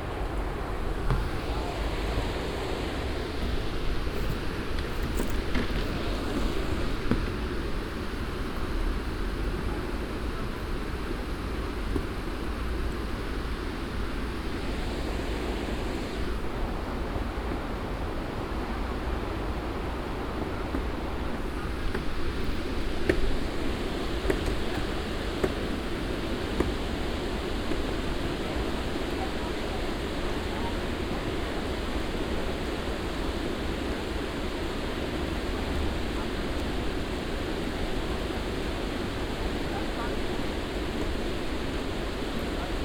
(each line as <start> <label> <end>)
0.0 canou drivers 9.4